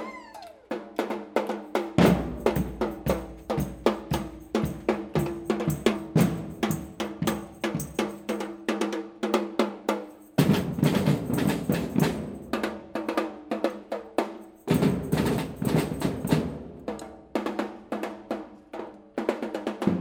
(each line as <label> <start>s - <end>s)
drums 0.0s - 20.0s